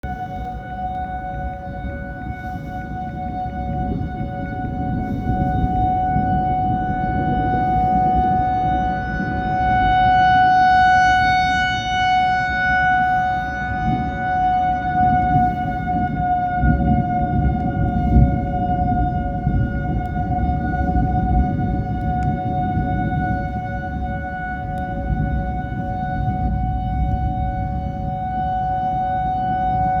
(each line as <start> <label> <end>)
0.0 tornado sirens 30.0
0.0 thunder 30.0